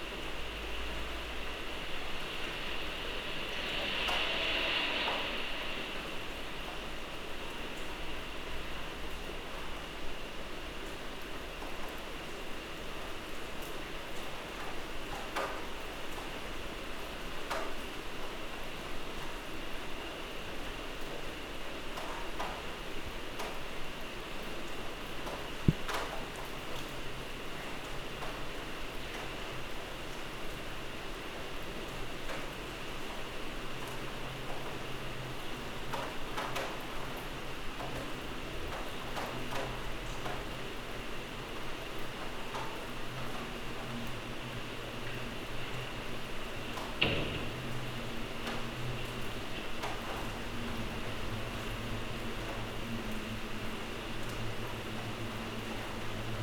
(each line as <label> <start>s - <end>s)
rain 0.0s - 56.4s
thunder 1.0s - 8.7s
thunder 46.7s - 53.1s